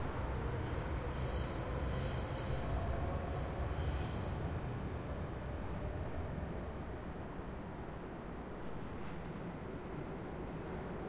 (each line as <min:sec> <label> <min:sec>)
0:00.0 train (S-Bahn) driving off 0:11.0
0:00.0 wind 0:11.0